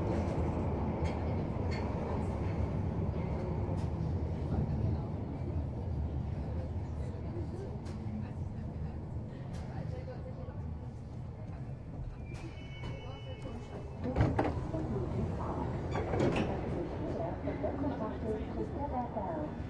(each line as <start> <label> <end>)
0.0 train leaving the baker street tube station 19.6